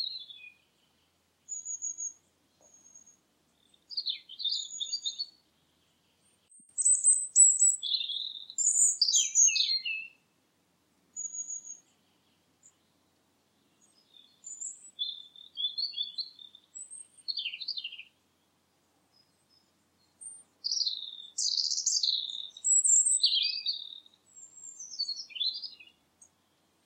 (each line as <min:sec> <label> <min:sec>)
0:00.0 birdsong 0:10.3
0:11.1 birdsong 0:26.8